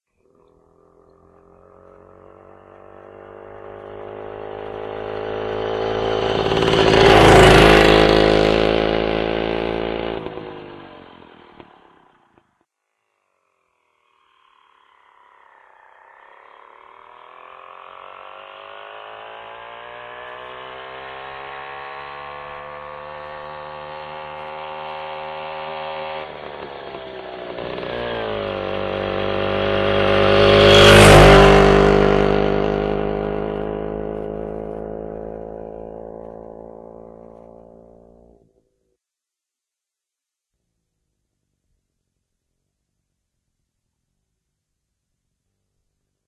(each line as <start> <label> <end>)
0.3 light motorbike close passing 12.4
14.3 light motorbike close passing 38.4